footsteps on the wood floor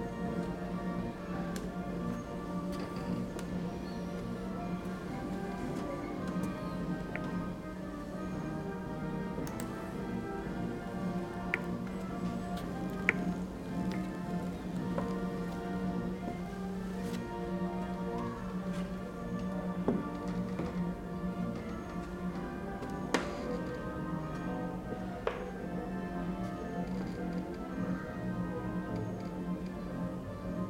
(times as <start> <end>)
9.3 24.4